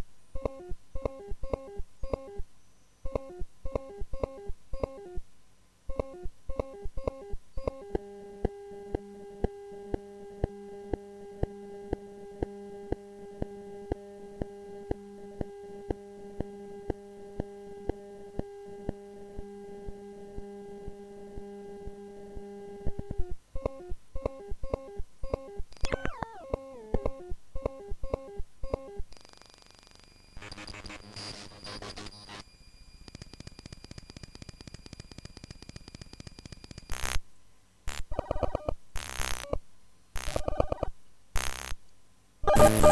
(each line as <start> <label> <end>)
25.8 raw data from a random file 37.2
37.9 raw data from a random file 39.6
40.2 raw data from a random file 41.8
42.4 raw data from a random file 42.9